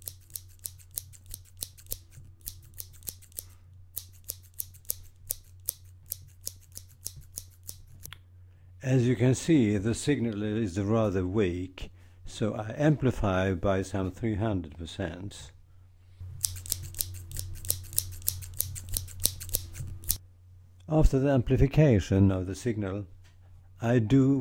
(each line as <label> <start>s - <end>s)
knixing scissors 0.0s - 8.2s
knixing scissors 16.4s - 20.2s